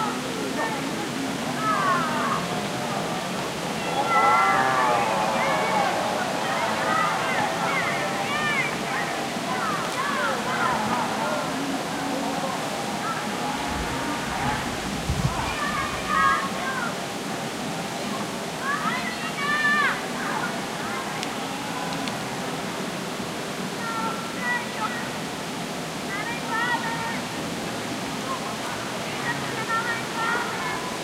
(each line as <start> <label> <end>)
0.0 distant voices of young people 31.0
0.0 races with the bikes 31.0
12.7 branches of trees moving with the wind 16.7